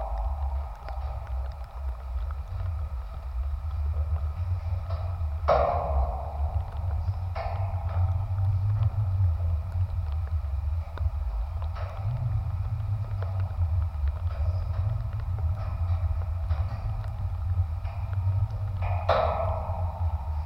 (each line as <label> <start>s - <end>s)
light rain 0.0s - 20.4s
metallic football gates 0.0s - 20.4s